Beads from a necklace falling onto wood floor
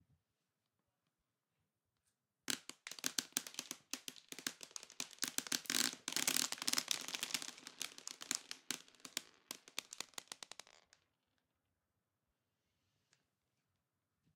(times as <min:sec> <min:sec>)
0:02.5 0:11.0